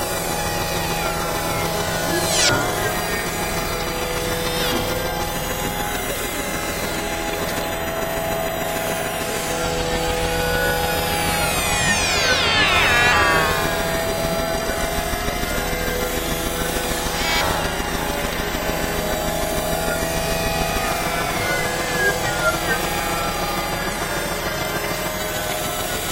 0.0s Busy high harmonics drone 26.1s

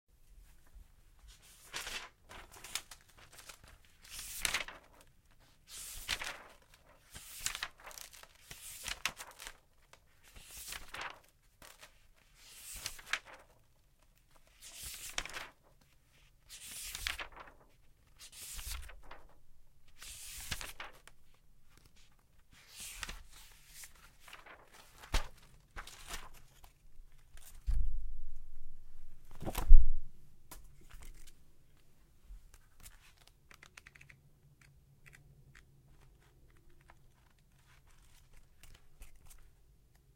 0.4s Flipping through the pages of a notebook at various speeds 27.9s
29.2s Flipping through the pages of a notebook at various speeds 29.8s
30.5s Flipping through the pages of a notebook at various speeds 40.1s

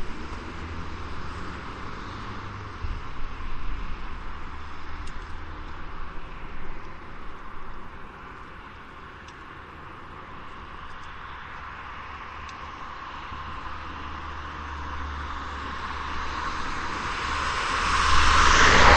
0.0s Passing cars 18.9s
0.0s pedestrians in the background 18.9s

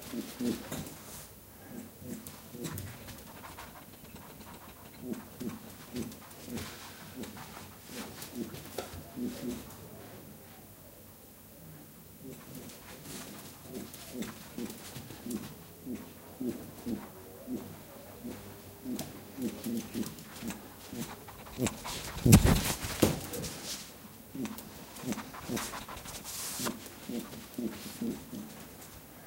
2.0s pet rabbit runs in circles around the mics 9.7s
12.3s pet rabbit runs in circles around the mics 29.1s

